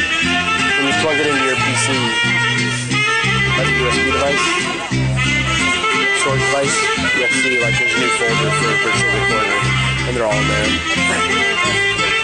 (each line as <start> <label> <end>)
0.0 Saxophone plays 12.2